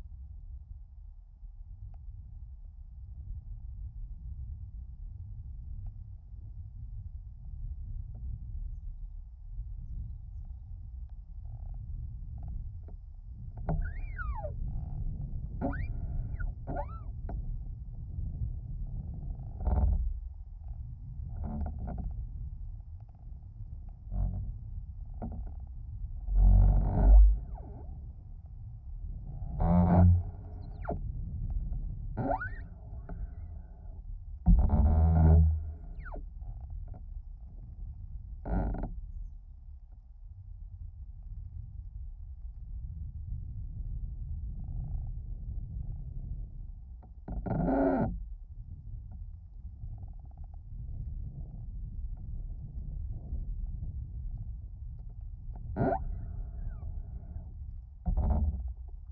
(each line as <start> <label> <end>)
0.0 Creaking tree internal bass vibrations and groans 59.1